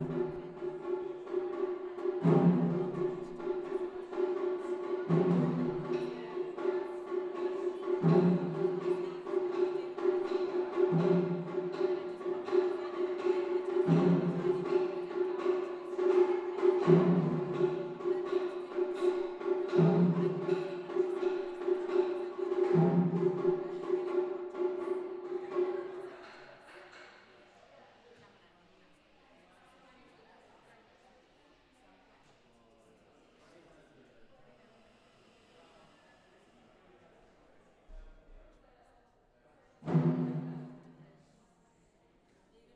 0.0s Taiko drumming 26.0s
39.9s Taiko drumming 40.8s

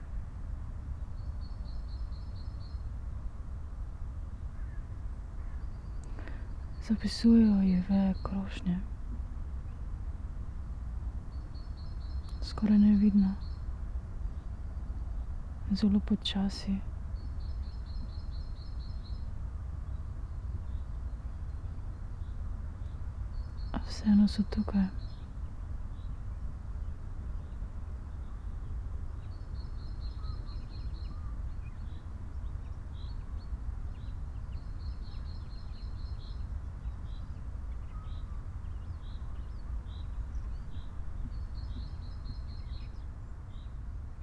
6.8s spoken words 8.9s
12.4s spoken words 13.4s
15.7s spoken words 16.8s
23.8s spoken words 25.0s

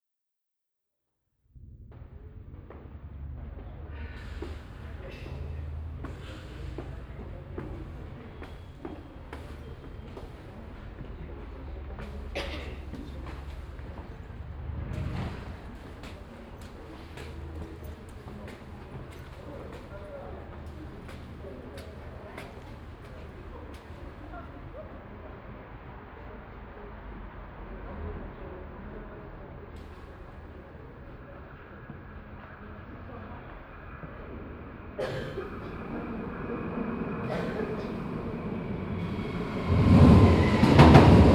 3.4s train arrives 28.6s
4.0s voices 25.3s
4.2s steps at the stairways to the platform 24.6s
35.0s train arrives 41.3s
35.0s voices 41.3s

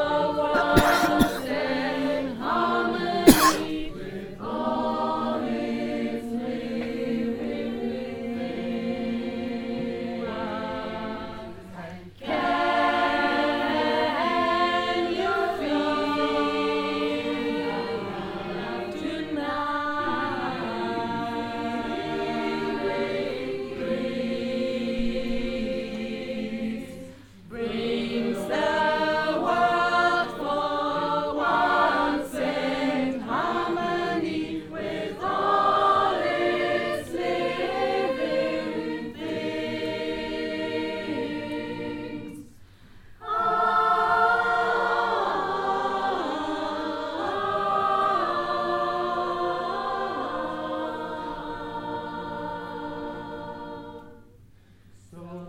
0.0s choir 55.4s

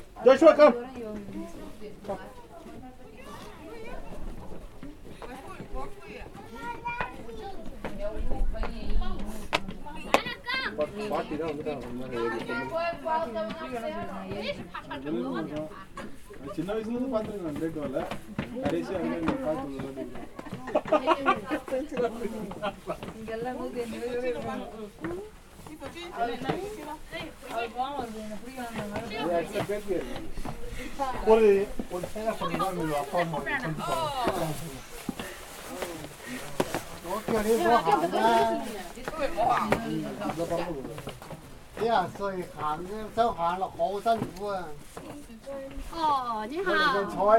0.0s people 47.3s

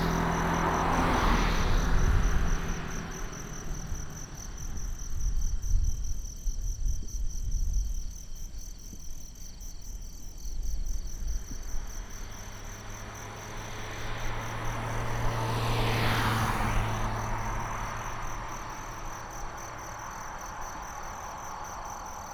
0.0s Traffic sound 5.6s
0.0s Insects sound 22.3s
11.2s Traffic sound 22.3s

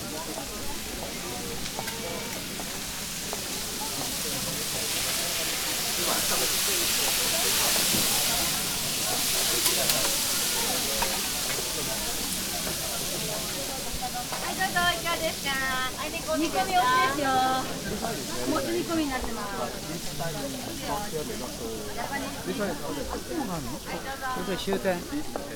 0.0s cooks making all kind of dishes, frying, steaming, boiling 25.5s
0.0s people talking 25.5s

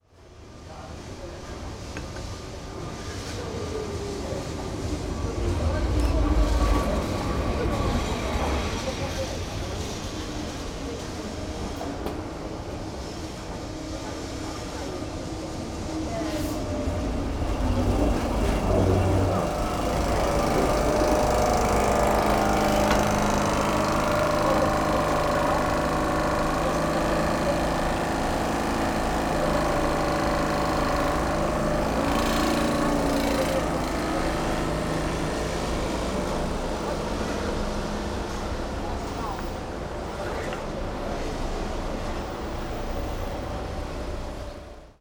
0.0s train engine 45.0s

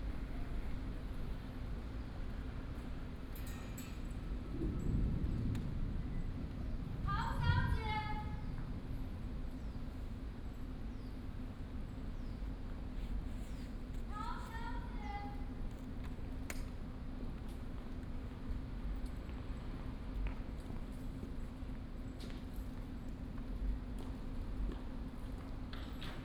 4.0s Thunder 10.4s

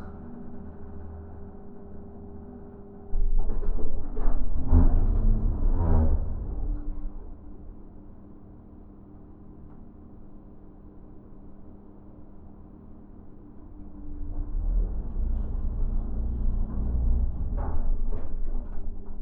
0.0s Elevator 19.2s

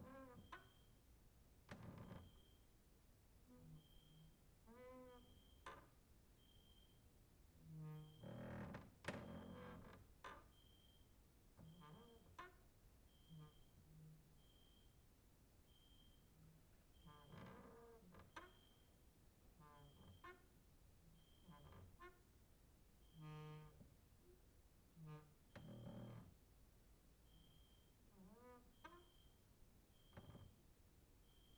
1.7s creaking with wooden doors 2.5s
7.8s creaking with wooden doors 10.6s
17.0s creaking with wooden doors 18.7s
25.0s creaking with wooden doors 26.3s
31.2s cricket outside 31.5s

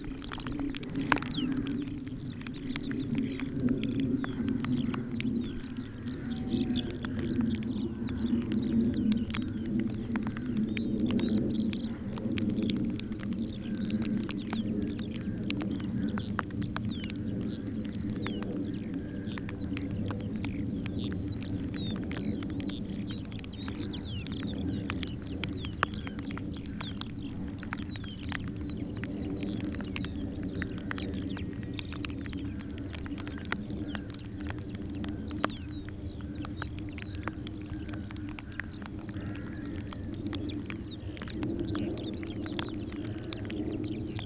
0.0s Rain on hood 44.2s

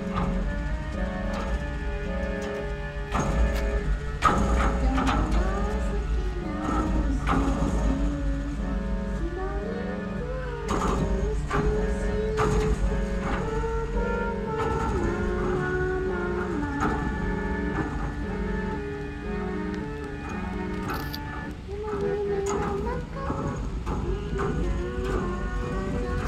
0.0s people moving the bucky ball all over the place 9.3s

